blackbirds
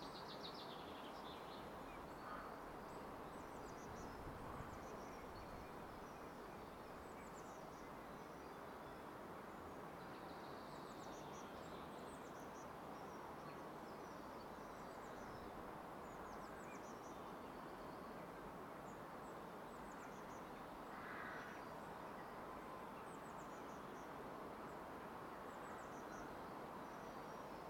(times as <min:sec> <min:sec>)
0:01.6 0:08.3, 0:20.0 0:21.7